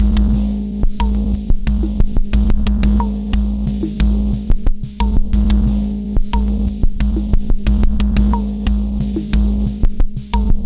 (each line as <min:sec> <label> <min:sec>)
0:00.0 destroyed and reassembled beats 0:10.6